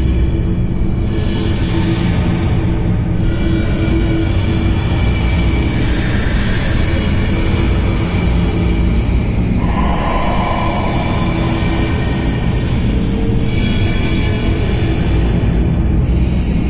drone 0.0 - 16.6

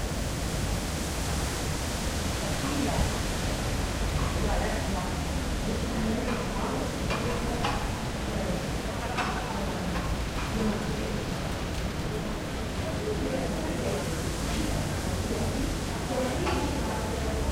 wind in the trees 0.0 - 17.5
people 4.1 - 17.5

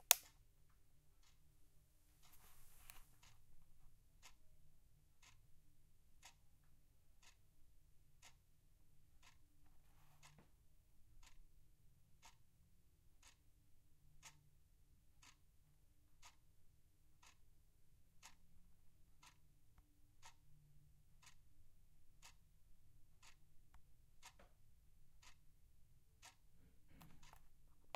Ticking Kitchen Wall Clock 26.2 - 27.9

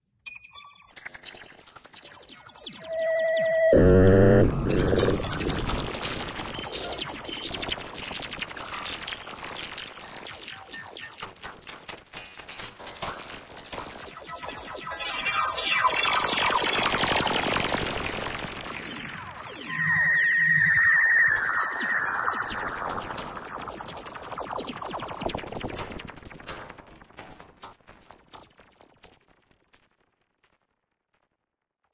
Sci/fi Glitches 2.7 - 6.4

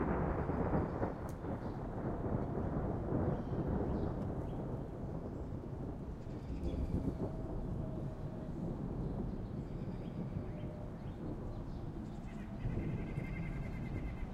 distant thunder 0.0 - 14.3
rain with increasing intensity 0.0 - 14.3
sparrows 9.3 - 14.3

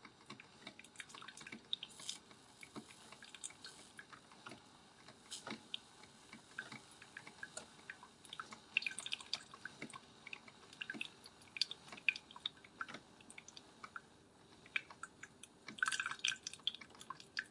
coffee maker 0.0 - 17.5
pour water 0.8 - 4.2
pour water 6.5 - 13.6
pour water 14.7 - 17.5

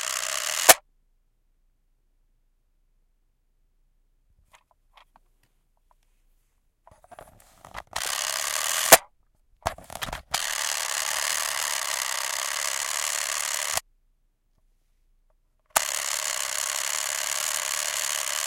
Board Game Timer 0.0 - 0.8
Board Game Timer 8.0 - 9.0
Board Game Timer 10.4 - 13.8
Board Game Timer 15.8 - 18.4

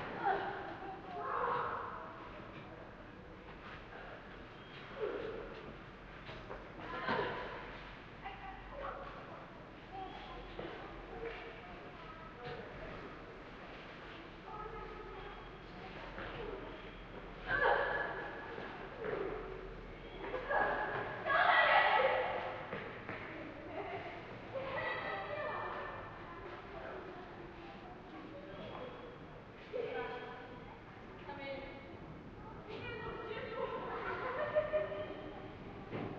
voices 0.0 - 36.1

